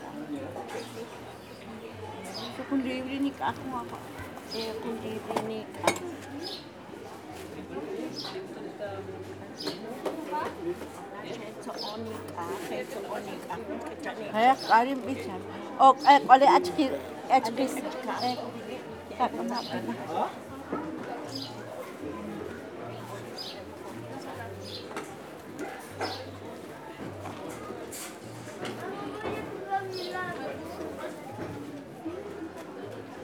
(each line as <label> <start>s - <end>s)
Conversation in Tzutujil 0.4s - 22.2s